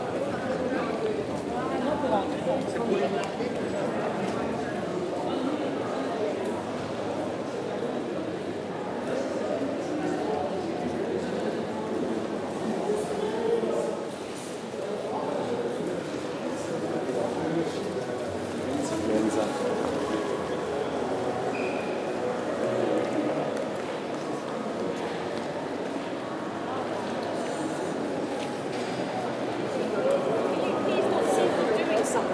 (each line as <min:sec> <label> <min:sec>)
0:15.7 people walking quietly 0:32.3